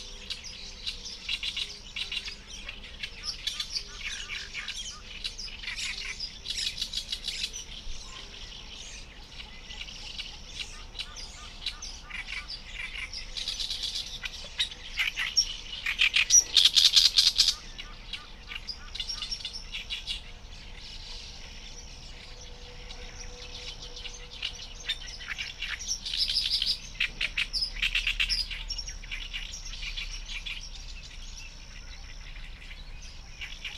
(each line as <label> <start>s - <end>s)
human-made noise from nearby roads and urban areas 0.0s - 33.7s
insect activity 0.0s - 33.7s